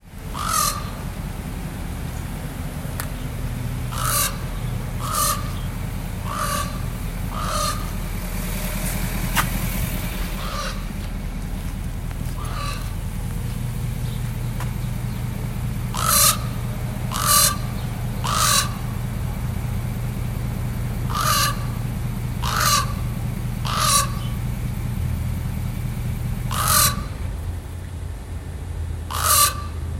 0.0s idling pick-up truck 29.9s
0.3s loquacious raven 1.2s
3.9s loquacious raven 8.2s
10.3s loquacious raven 11.6s
12.2s loquacious raven 14.4s
15.2s loquacious raven 19.1s
21.0s loquacious raven 24.4s
26.4s loquacious raven 27.2s
29.1s loquacious raven 29.9s

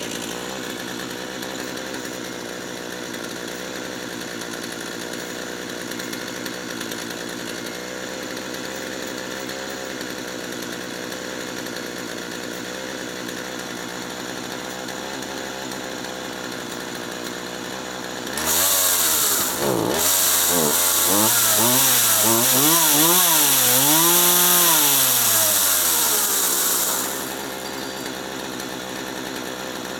0.0s chainsaw idling and revving 29.9s
18.4s very noisy chain 29.0s

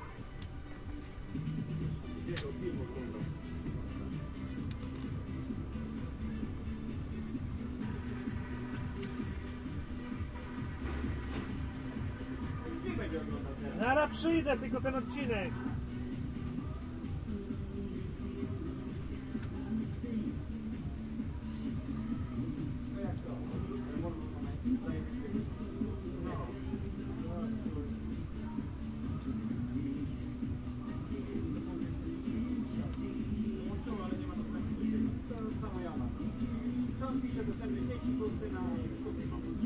0.0s music 39.6s

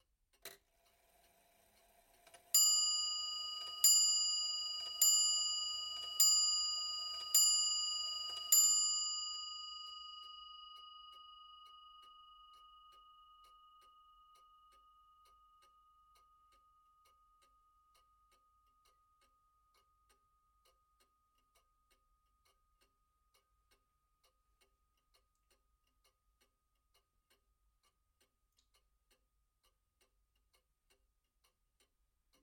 2.5s regency clock (made by R Restall, Croydon) chimes 6 times 21.6s

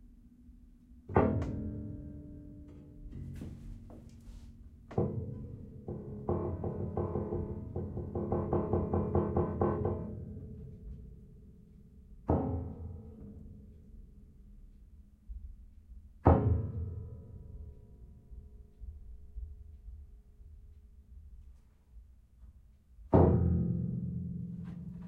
1.1s upright piano 13.7s

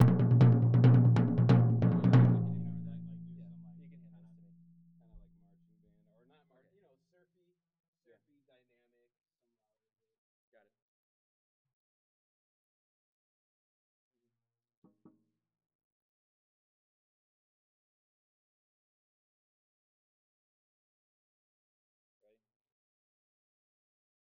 0.0s Med-low Tom 6.1s

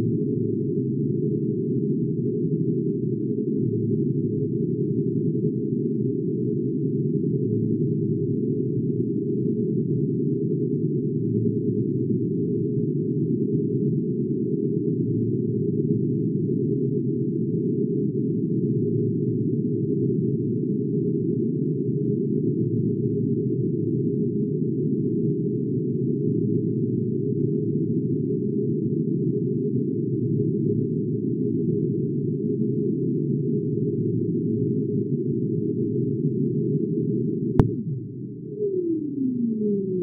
37.6s synth 40.0s

